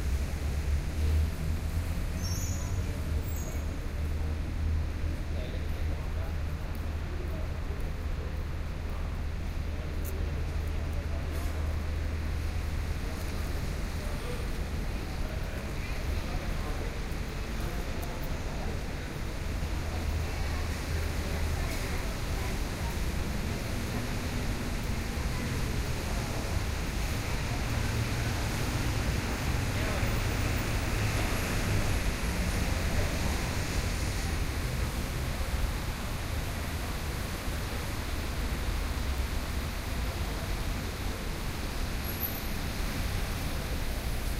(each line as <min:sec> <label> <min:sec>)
0:00.0 traffic 0:44.3